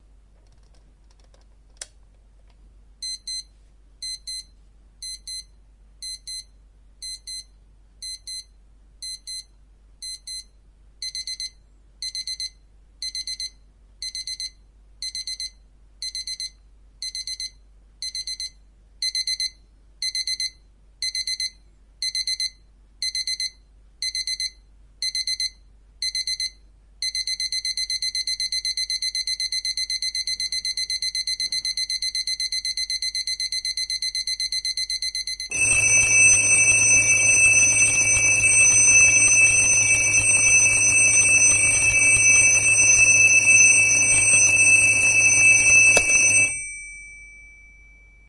3.0s alarm 48.2s

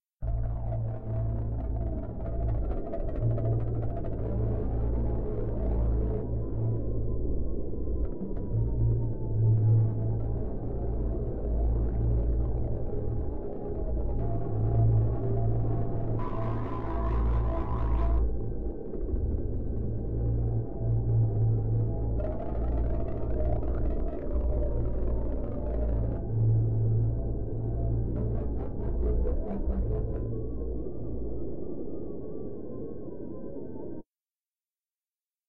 0.2s drone 34.0s

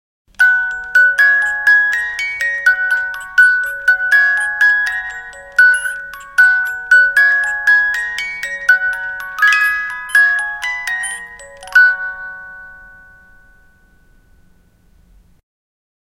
0.3s hand-turned music box 14.7s
0.4s music box handle turning 11.9s

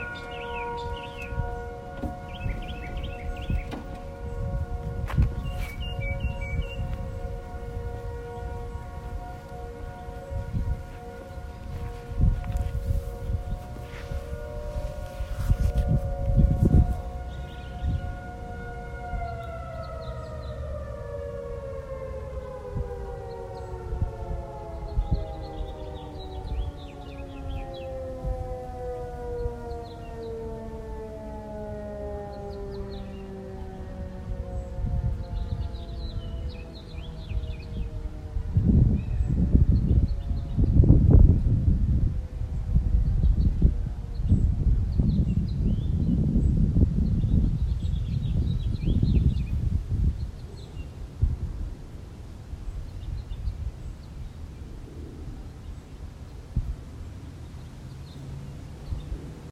0.0s tornado warning test 53.9s

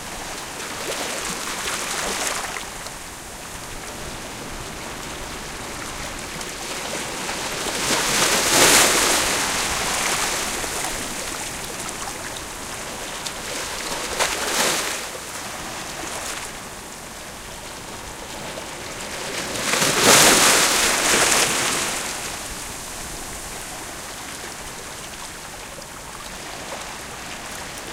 0.0s waves coming to the beach 27.9s

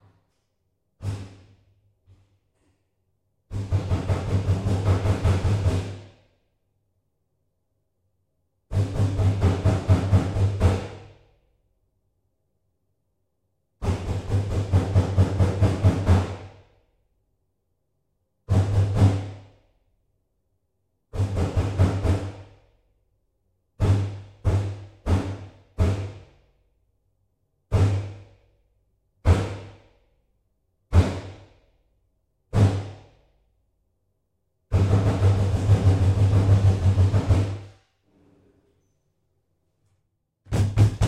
40.5s Pounding on sliding door 41.0s

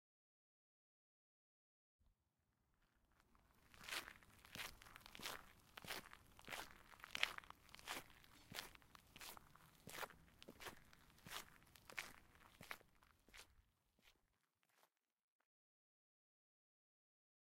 3.4s Walking on gravel 14.2s

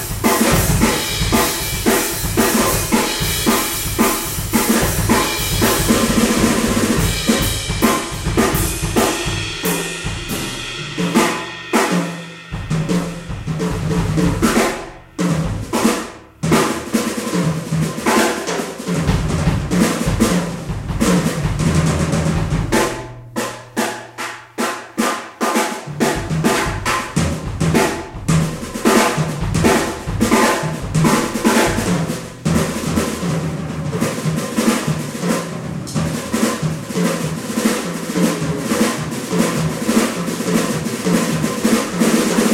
0.0s Drum Solo 42.5s

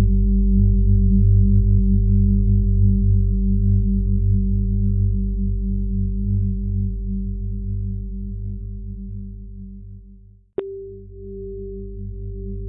10.6s sine waves of slightly different pitch 12.6s

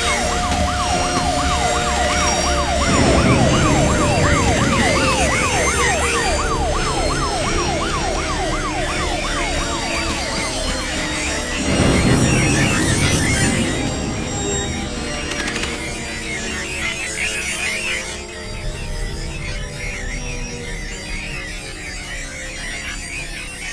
0.0s aliens attacking 23.6s
0.1s bombs 16.5s

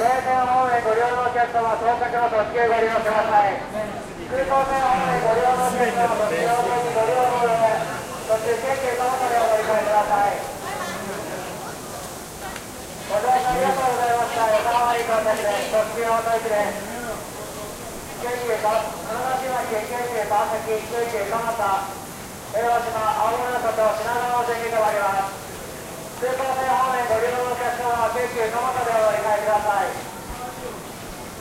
0.0s people walking and talking 31.4s
0.0s public announces 31.4s
0.0s trains departing 31.4s

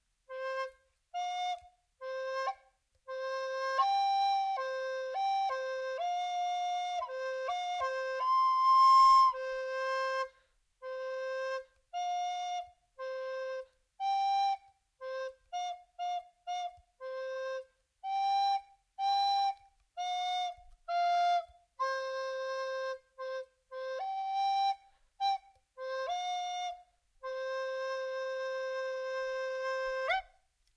0.0s improvising song on the recorder 30.7s

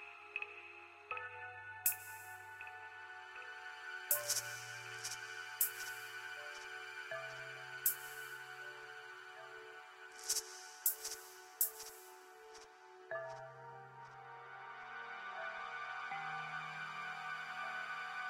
0.0s Suspense/Horror background music 18.2s

